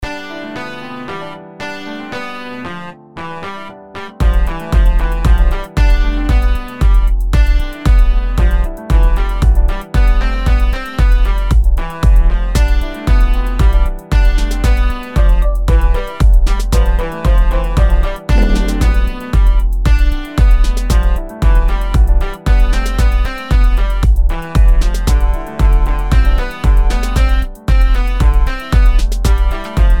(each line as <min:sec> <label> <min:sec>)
0:00.0 music 0:30.0